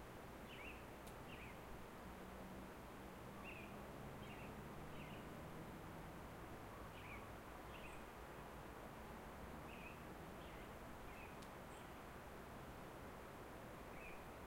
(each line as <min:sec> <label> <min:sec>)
0:00.2 Songbirds 0:14.4